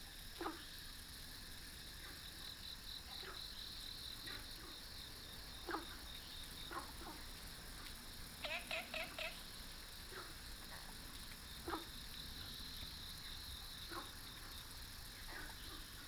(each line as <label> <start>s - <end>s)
Frogs chirping 2.6s - 16.0s